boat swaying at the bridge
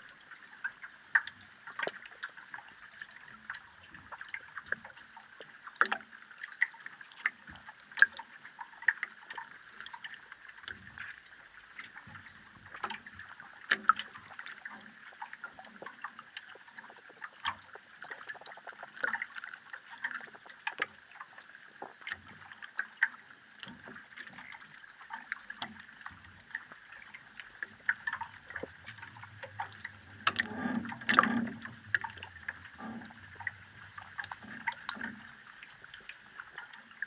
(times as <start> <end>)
21.4 37.0